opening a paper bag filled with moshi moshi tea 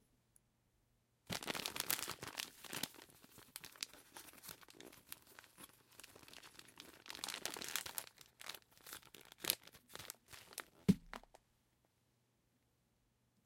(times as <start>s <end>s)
1.3s 11.4s